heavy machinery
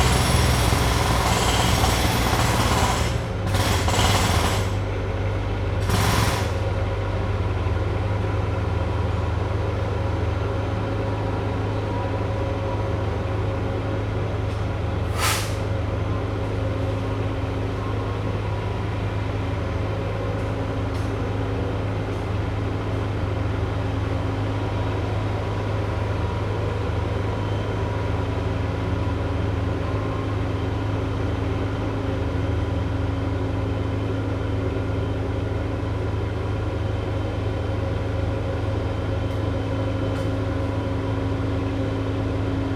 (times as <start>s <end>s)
0.0s 9.7s, 14.2s 26.3s